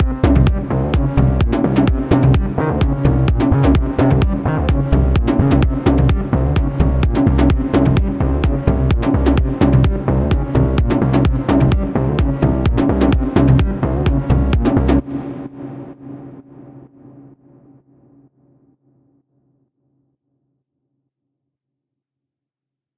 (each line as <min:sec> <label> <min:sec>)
0:00.0 drum 0:15.4